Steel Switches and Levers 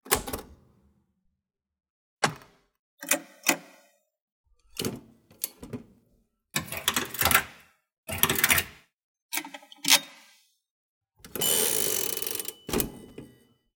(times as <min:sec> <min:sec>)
0:00.0 0:00.7, 0:04.7 0:06.0, 0:11.3 0:13.5